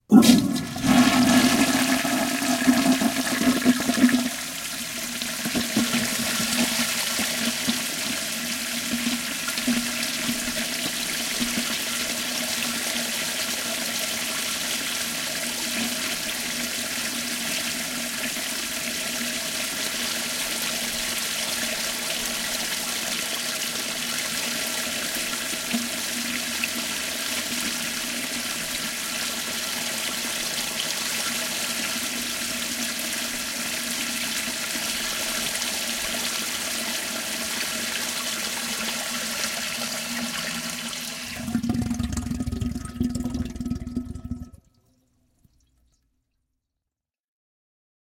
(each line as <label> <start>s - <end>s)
old tankless toilet 0.0s - 45.9s